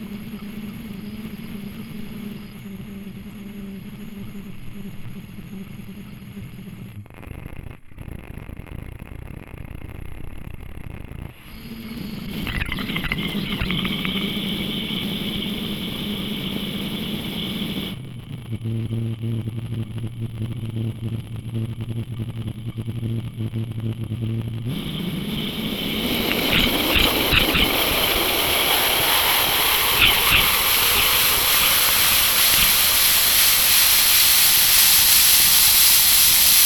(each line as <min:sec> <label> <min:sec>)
0:11.4 hissing faucet 0:18.0
0:24.7 hissing faucet 0:36.6